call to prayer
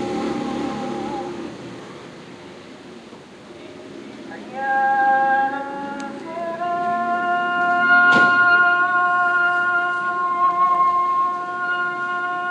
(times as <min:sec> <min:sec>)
0:04.3 0:12.5